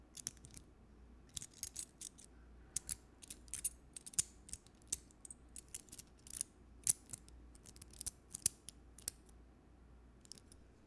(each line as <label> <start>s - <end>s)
keys rustling at random speed and rhythm 1.3s - 8.5s